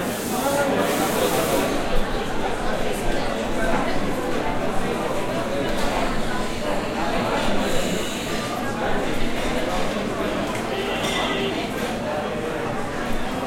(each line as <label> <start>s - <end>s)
people talking 0.0s - 13.4s
dishes and cutlery clanging 11.0s - 11.4s